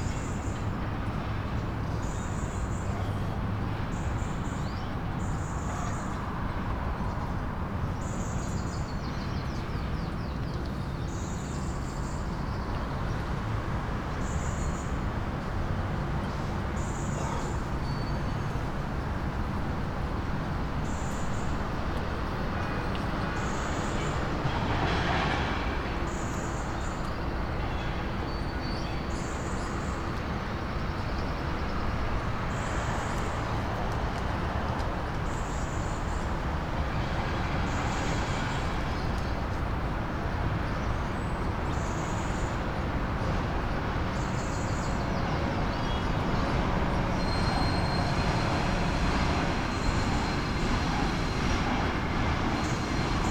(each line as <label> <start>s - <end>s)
train passing 18.6s - 30.9s
heavy traffic 31.7s - 53.3s
train passing 31.9s - 53.3s